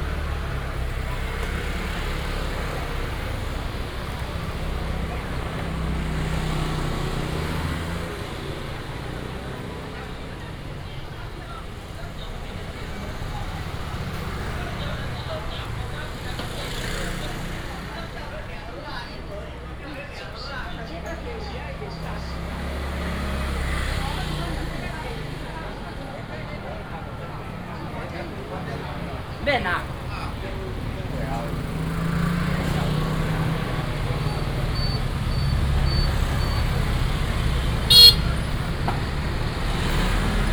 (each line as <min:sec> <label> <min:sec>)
0:00.0 Many motorcycles 0:40.5
0:00.0 Traffic sound 0:40.5
0:00.0 Walking through the traditional market 0:40.5
0:34.8 Bird sound 0:38.7